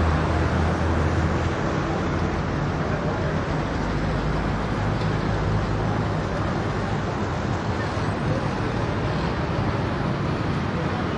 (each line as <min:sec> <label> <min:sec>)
0:00.0 scooters mopeds throaty dense semidistant 0:11.1
0:00.0 traffic heavy 0:11.1